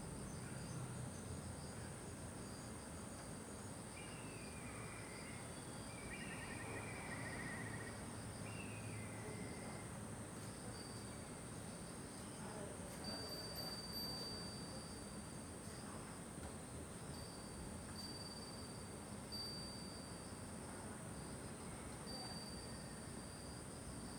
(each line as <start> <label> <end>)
12.9 Chime 16.0
17.1 Chime 24.1